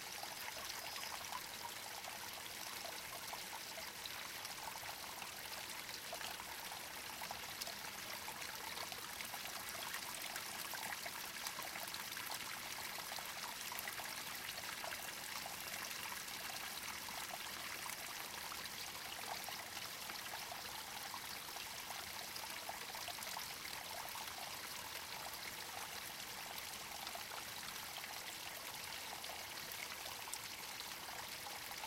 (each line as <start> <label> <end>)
0.0 small forest stream 31.8